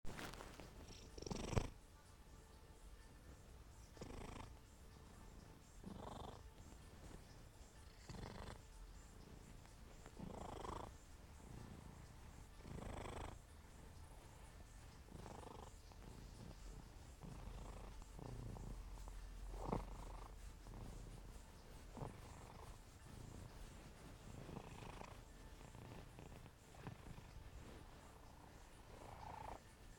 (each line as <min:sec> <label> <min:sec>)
0:00.1 Cat Purring 0:02.2
0:03.0 Cat Purring 0:29.9